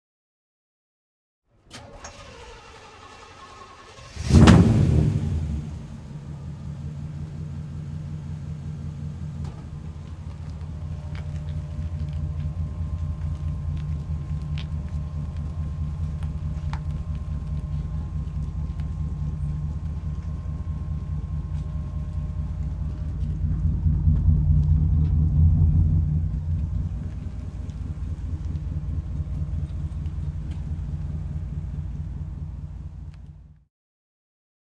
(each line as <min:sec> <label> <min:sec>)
0:01.5 car 0:33.7
0:01.7 v8 engine starting up 0:33.6